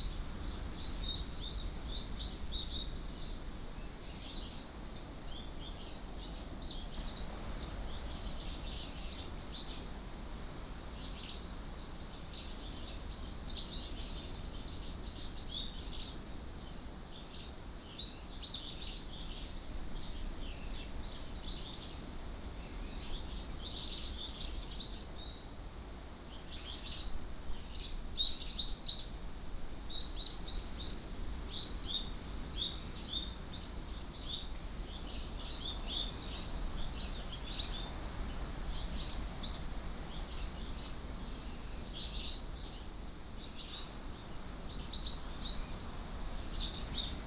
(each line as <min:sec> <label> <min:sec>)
0:26.3 Birds singing 0:47.2